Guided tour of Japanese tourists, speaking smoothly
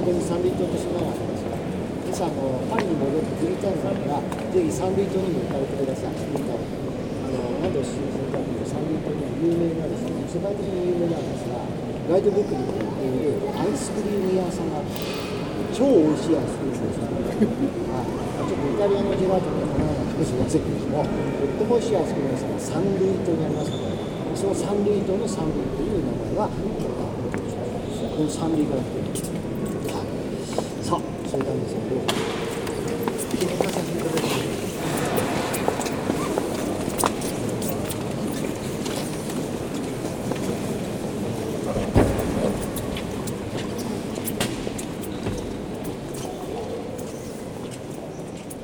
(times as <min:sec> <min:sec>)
0:00.0 0:35.4